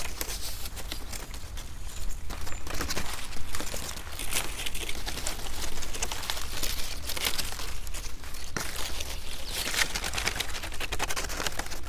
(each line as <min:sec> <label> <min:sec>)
0:00.0 playing with few dried corn stalks 0:11.8